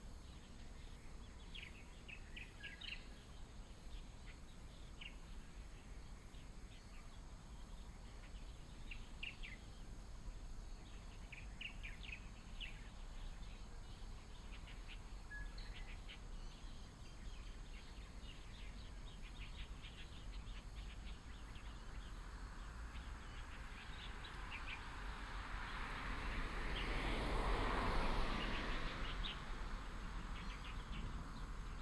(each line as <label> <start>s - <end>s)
Traffic sound 18.0s - 31.8s